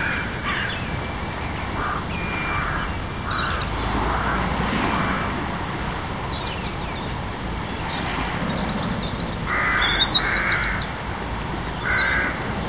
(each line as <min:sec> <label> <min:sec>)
0:00.0 sparrows 0:12.6
0:00.0 tide 0:12.6
0:01.8 crow 0:05.4
0:09.5 crow 0:10.9
0:11.8 crow 0:12.4